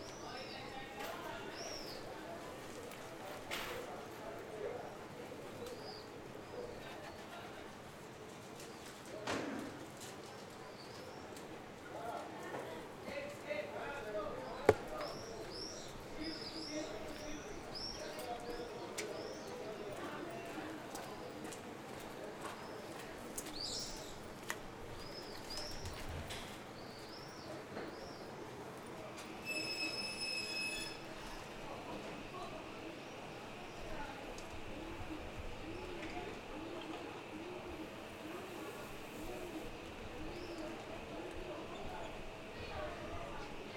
25.0s birds 28.4s

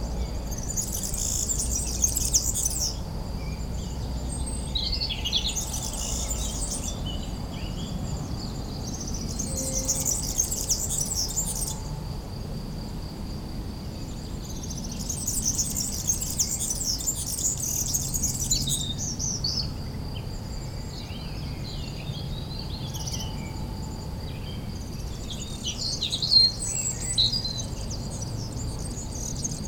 0.4s excited European Goldfinch is singing 3.0s
4.5s excited European Goldfinch is singing 7.0s
8.9s excited European Goldfinch is singing 11.8s
14.7s excited European Goldfinch is singing 19.2s

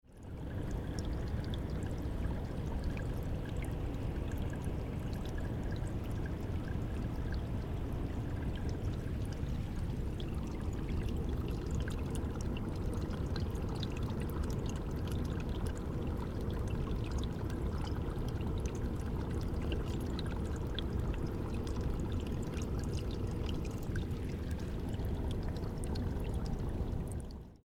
0.0s Water 27.6s

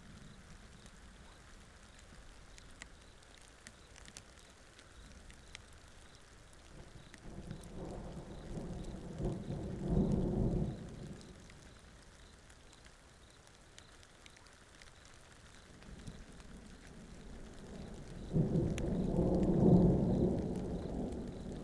6.6s Storm 12.7s
15.6s Storm 21.6s

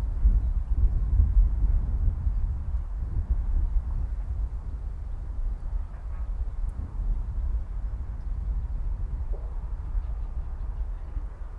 0.0s wind 11.5s
9.2s birds 11.5s

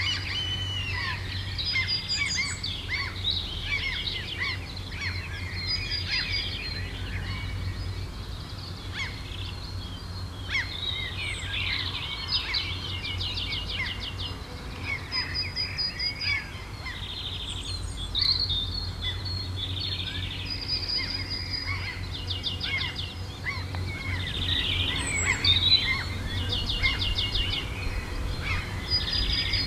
0.0s several bird sounds 29.6s
22.6s seagulls 29.6s
22.9s high wind whispers 29.6s

